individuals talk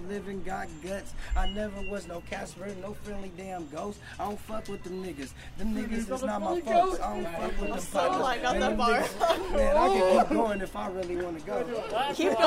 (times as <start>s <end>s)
5.5s 12.4s